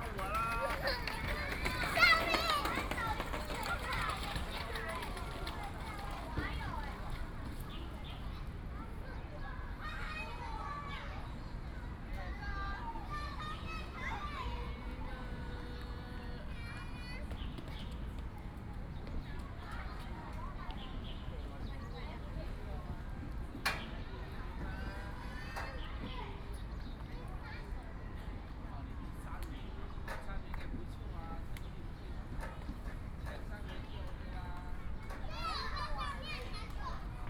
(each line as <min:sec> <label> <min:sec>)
0:00.0 Traffic Sound 0:08.1
0:00.0 Birds sound 0:09.2
0:00.0 Kids and parents 0:37.2
0:13.1 Birds sound 0:22.6